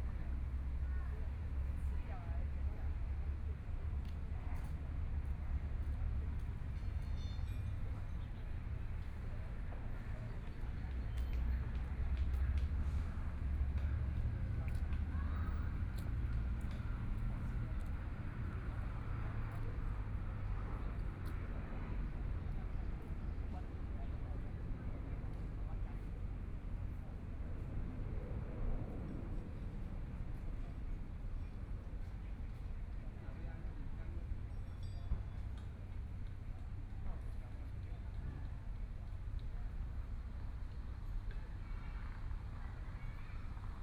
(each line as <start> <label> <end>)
0.0 Traffic Sound 43.8